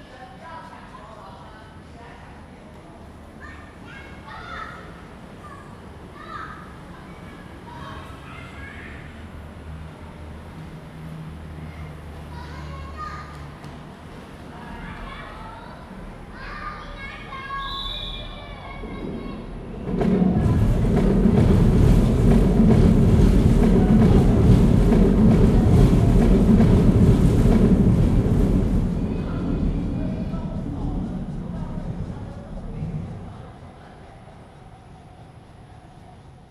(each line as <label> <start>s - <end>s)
MRT train sounds 0.0s - 36.5s